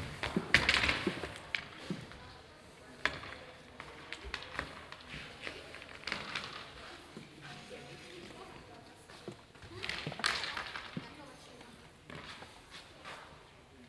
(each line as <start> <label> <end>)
0.0 inline skater hockey training 13.8